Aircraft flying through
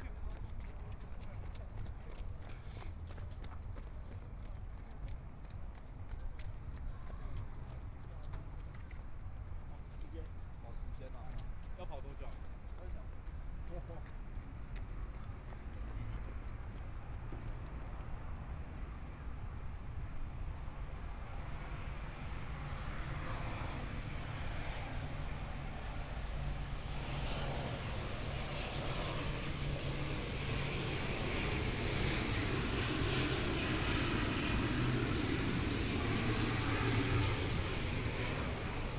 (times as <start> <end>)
20.7 38.9